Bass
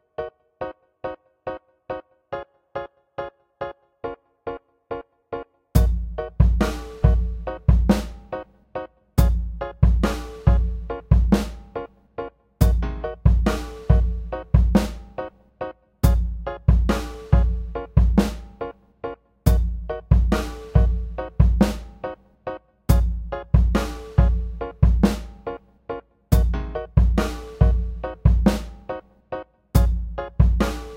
5.8s 8.5s, 9.2s 11.9s, 12.6s 15.3s, 16.0s 18.8s, 19.5s 22.2s, 22.9s 25.6s, 26.3s 29.0s, 29.8s 30.9s

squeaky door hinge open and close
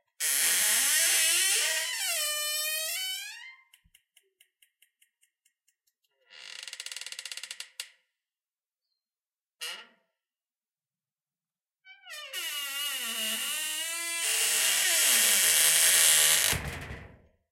0.2s 3.7s

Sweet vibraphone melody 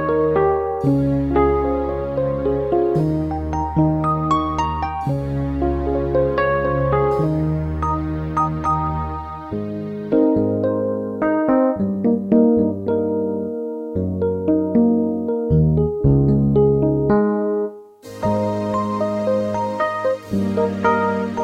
7.8s 9.6s

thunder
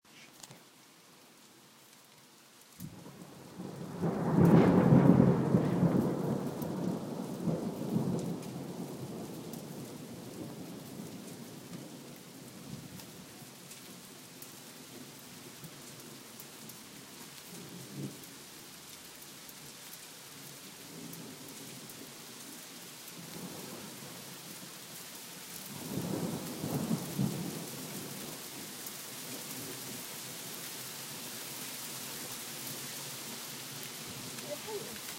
2.8s 10.7s

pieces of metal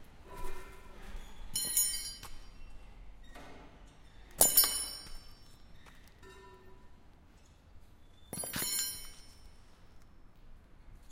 1.6s 2.5s, 4.4s 5.5s, 8.3s 9.5s

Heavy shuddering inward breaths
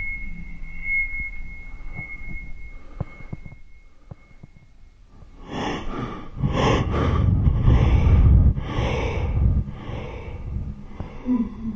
5.2s 11.7s

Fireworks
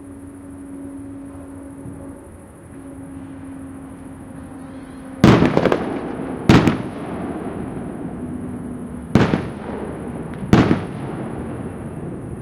4.7s 12.4s

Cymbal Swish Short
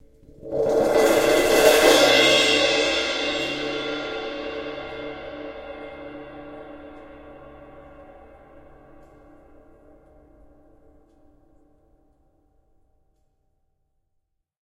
0.3s 9.4s

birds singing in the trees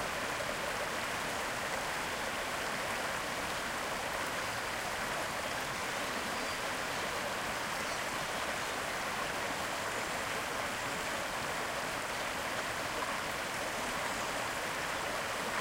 4.0s 11.4s, 13.2s 15.6s

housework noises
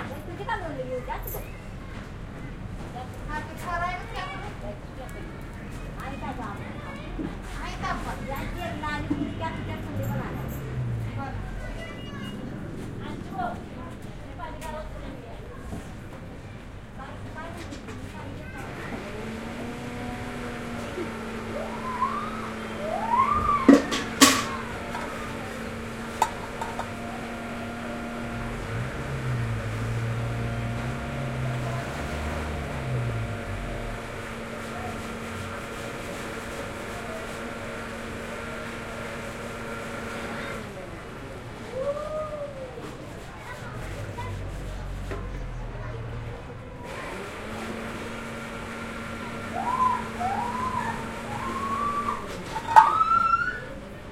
22.6s 36.8s

